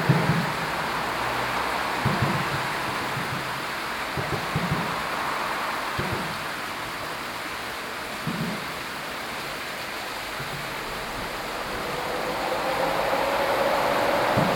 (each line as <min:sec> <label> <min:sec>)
0:00.0 cars 0:14.5
0:00.0 trains 0:14.5